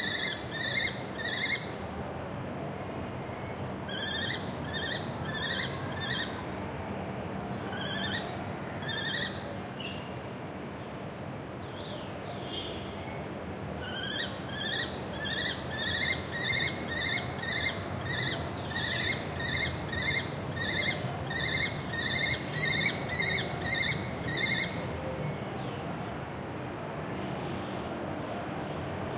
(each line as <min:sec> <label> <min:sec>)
0:00.0 City noise in background 0:29.1
0:14.0 male Lesser Kestrel (Falco naumanni) screeching 0:24.8